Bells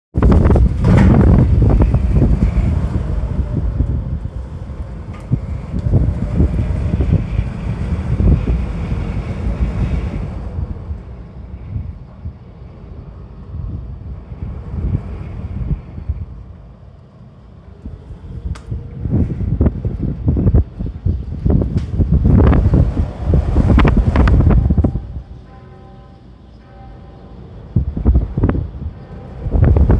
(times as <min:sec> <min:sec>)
0:22.7 0:29.9